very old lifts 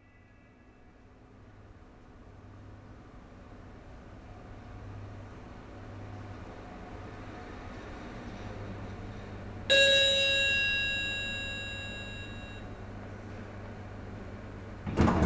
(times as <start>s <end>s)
9.7s 12.6s, 14.8s 15.2s